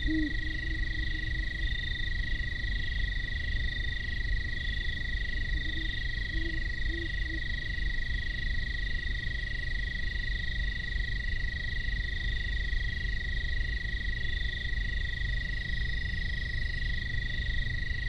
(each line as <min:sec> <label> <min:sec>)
0:00.0 great horned owls signify territories 0:07.5
0:00.0 industrial sand plant drones discreetly in the distance 0:18.0
0:00.0 insect chatter 0:18.0